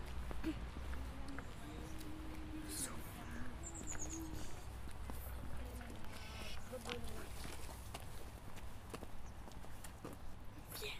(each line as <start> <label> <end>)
0.0 children walking in the schoolyard 10.9